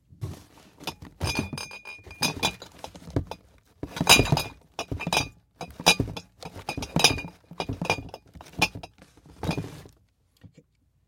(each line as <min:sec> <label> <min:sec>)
0:00.1 Box of glass bottles being carried and set down 0:10.0
0:00.8 bottles bumping 0:09.8
0:00.8 Glass tinging with movement 0:08.9